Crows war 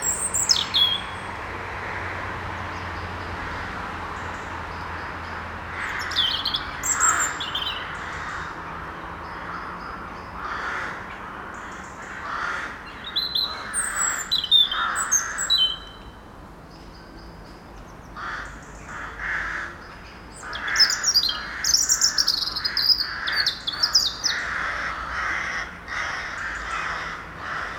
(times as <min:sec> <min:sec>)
0:05.7 0:08.7, 0:09.3 0:16.0, 0:18.2 0:19.8, 0:20.4 0:27.7